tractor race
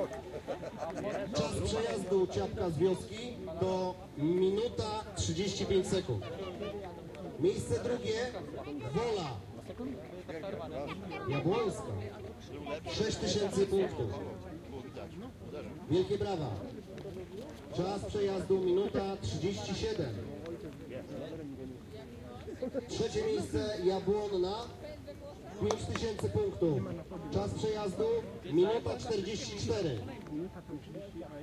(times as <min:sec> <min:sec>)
0:00.0 0:06.3